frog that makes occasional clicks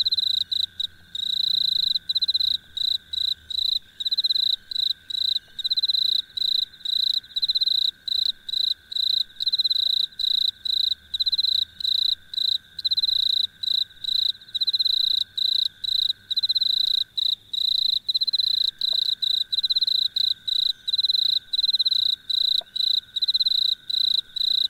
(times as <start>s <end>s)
18.3s 20.0s, 21.0s 23.7s